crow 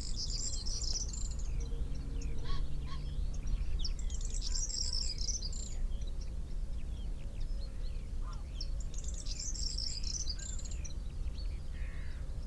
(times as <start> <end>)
11.8 12.2